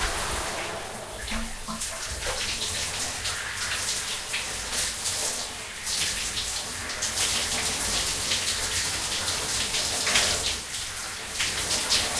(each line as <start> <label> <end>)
0.0 having a shower 12.1